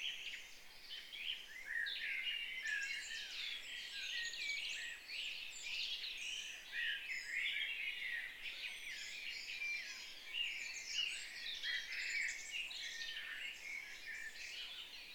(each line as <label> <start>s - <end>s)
birdsong 0.0s - 15.1s